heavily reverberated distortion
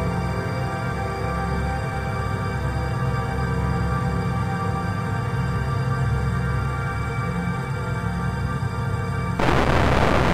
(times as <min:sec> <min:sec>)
0:09.4 0:10.3